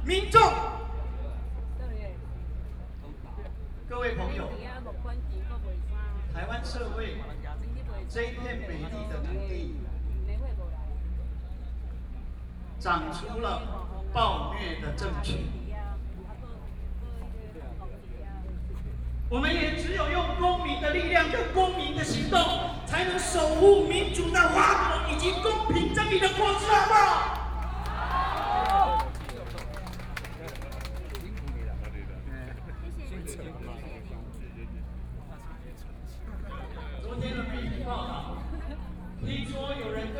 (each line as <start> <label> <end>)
20.6 Protest 32.3